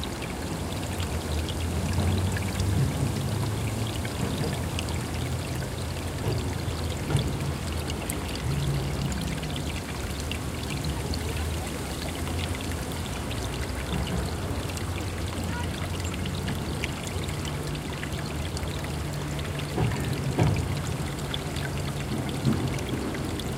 0.0s water flow on roll 23.5s

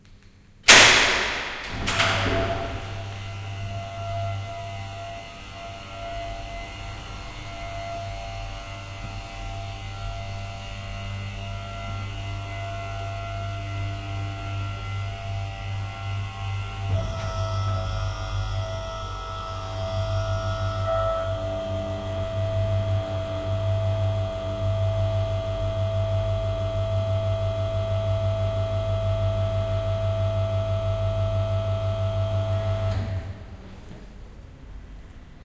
0.6s mechanism of a garage door in operation 35.4s

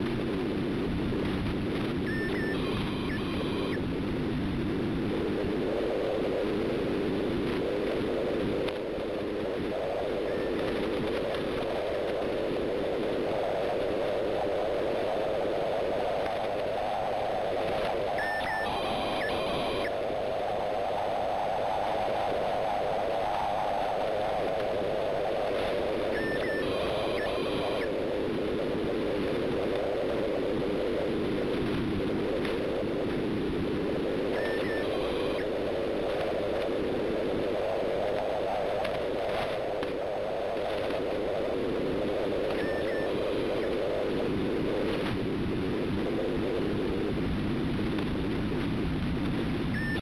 2.0s Short wave radio 3.8s
2.0s pager Bleeps 3.8s
9.7s Short wave radio 10.7s
17.9s Short wave radio 20.0s
18.2s pager Bleeps 19.9s
26.0s Short wave radio 28.0s
26.1s pager Bleeps 27.9s
34.2s Short wave radio 36.5s
34.4s pager Bleeps 35.5s
42.1s Short wave radio 44.2s
42.5s pager Bleeps 43.7s
49.7s Short wave radio 50.0s
49.8s pager Bleeps 50.0s

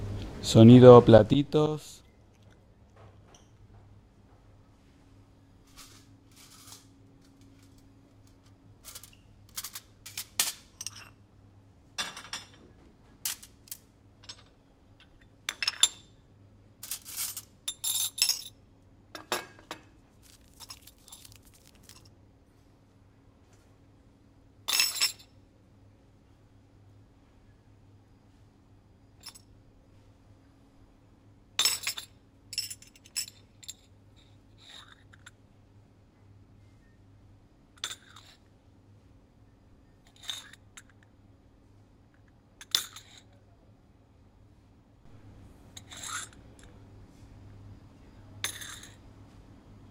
45.1s Coffee dishes 46.8s
48.4s Coffee dishes 49.1s

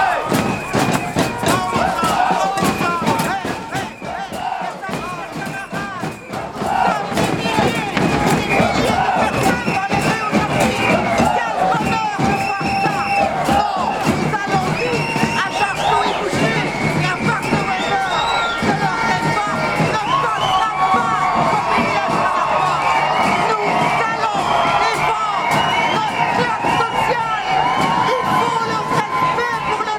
0.0s voices 29.9s

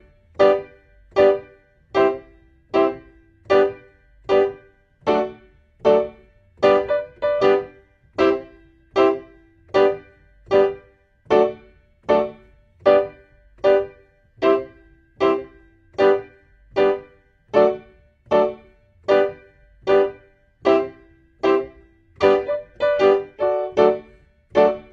0.0s PIANO 24.9s

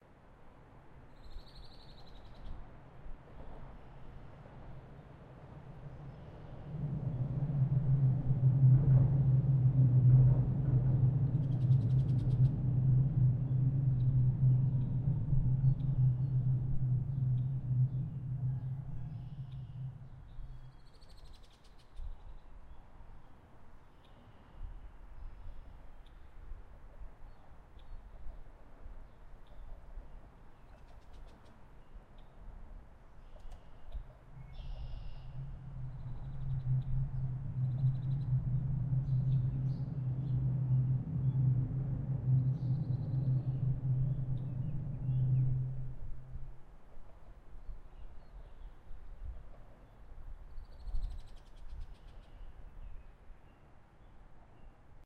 2.7s Subway train approaches rumbles overhead 20.8s
3.5s city hum 21.2s
34.0s city hum 47.8s
34.3s Subway train approaches rumbles overhead 48.1s

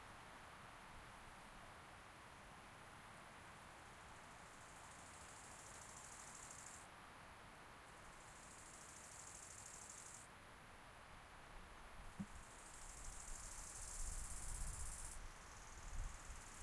0.0s wind in the autumn forest 16.6s

